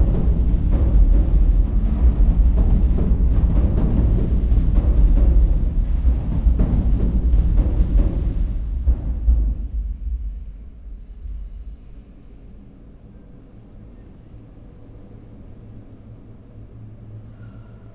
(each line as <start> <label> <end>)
0.0 heavy drumming from trains above 12.7